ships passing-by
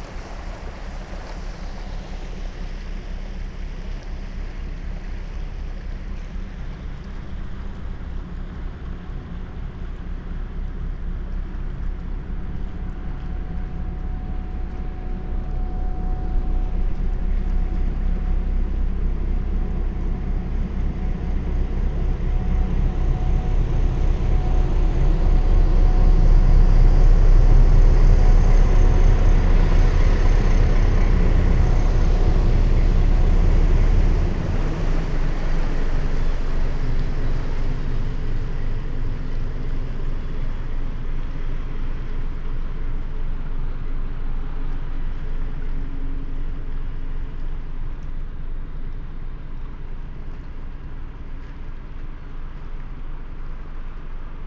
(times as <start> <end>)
11.8 53.2